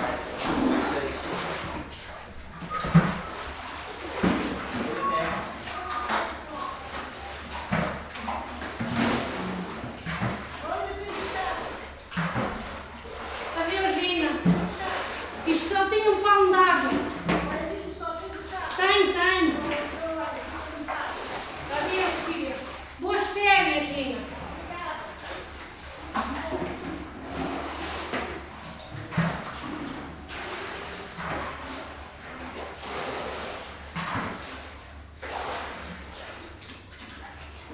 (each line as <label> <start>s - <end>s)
shoveling water after the flood 0.0s - 37.7s